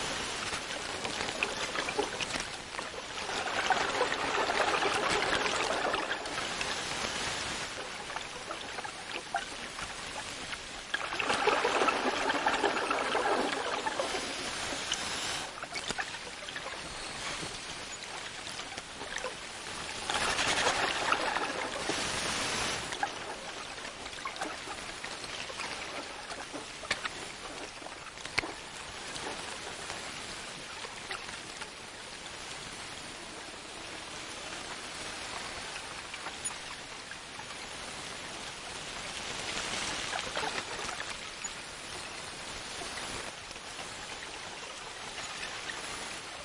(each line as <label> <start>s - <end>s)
bubbles 0.0s - 31.3s
diver underwater among vegetation, rustling 0.0s - 46.4s
water gurgling 0.0s - 46.4s
faint breathing with regulator 14.1s - 15.5s